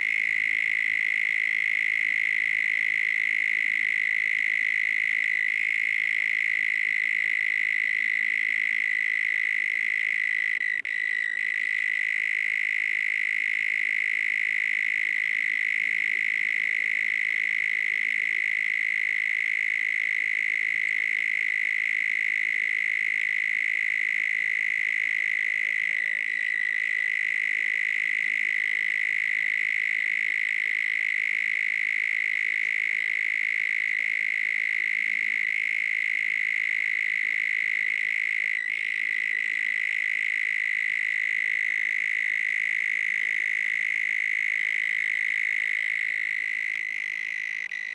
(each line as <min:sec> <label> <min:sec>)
0:00.0 Loud cicada 0:47.9